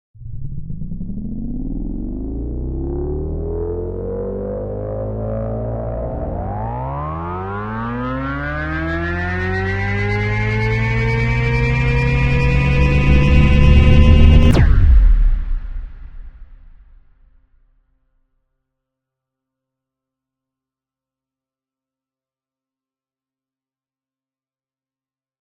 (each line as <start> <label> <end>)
0.2 spaceship jumping to warp speed 17.0